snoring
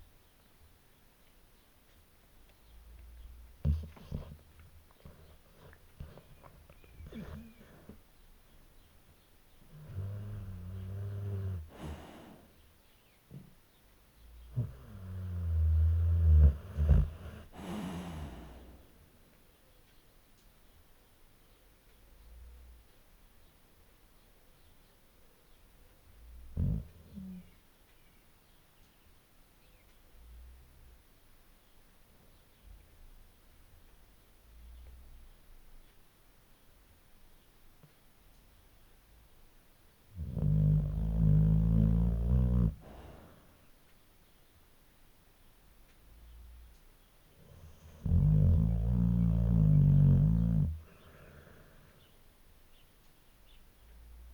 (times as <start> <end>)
5.0 8.0, 9.7 12.5, 14.4 18.9, 26.3 27.6, 40.1 43.5, 47.4 52.0